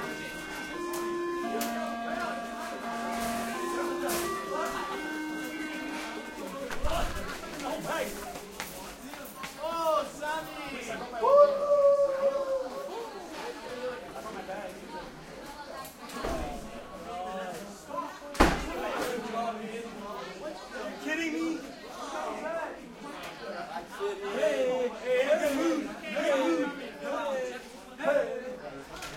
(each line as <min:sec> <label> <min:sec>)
0:00.0 lockers 0:08.2
0:00.0 crowd 0:29.1